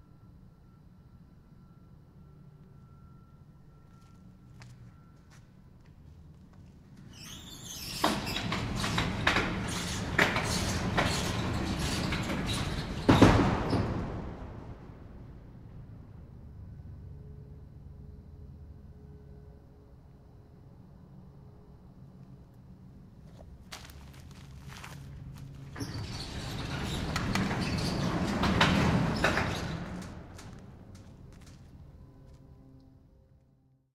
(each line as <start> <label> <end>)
7.0 Slamming shut and opening a huge metal warehouse door on rollers 15.8
23.8 Slamming shut and opening a huge metal warehouse door on rollers 31.9